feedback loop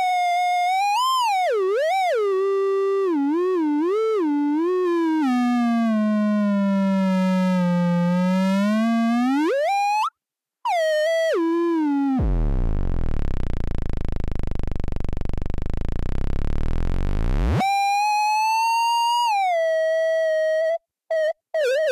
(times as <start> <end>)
12.2 17.6